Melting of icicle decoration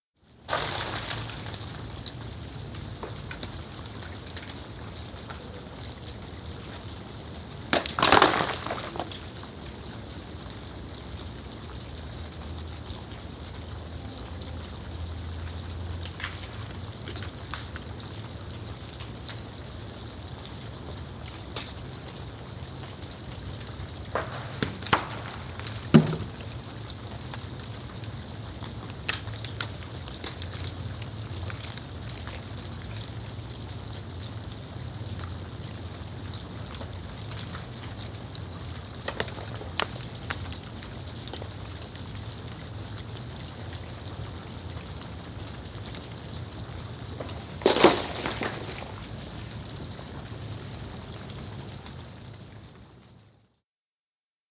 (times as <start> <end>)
0.5 2.2, 7.5 9.5, 20.5 32.9, 36.8 41.8, 46.6 49.8